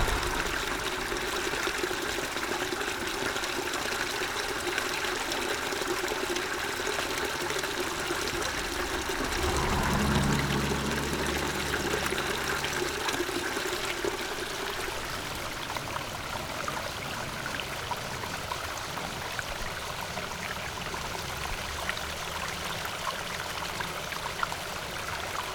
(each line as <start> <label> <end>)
0.0 traffic sound 2.0
0.0 water 25.5
6.8 traffic sound 15.2